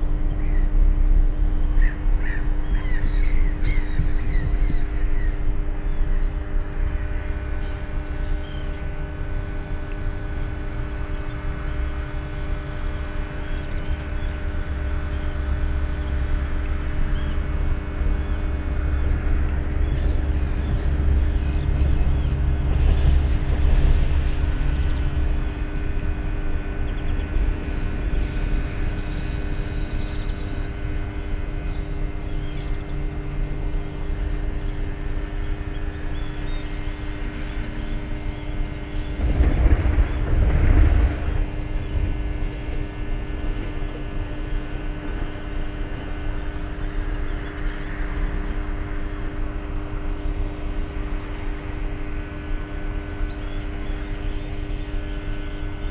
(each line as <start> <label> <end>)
0.0 Transformer drone 55.9
0.1 birds 10.2
3.9 trams 36.4
9.0 trains 36.4
10.9 birds 42.6
37.2 trams 47.2
38.9 trains 47.3
38.9 distant thunder 43.9
52.8 birds 55.9